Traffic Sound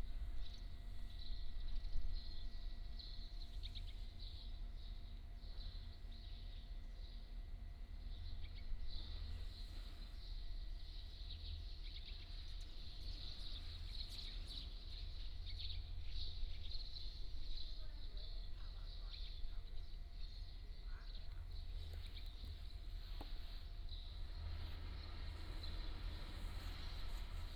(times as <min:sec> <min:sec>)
0:22.7 0:27.5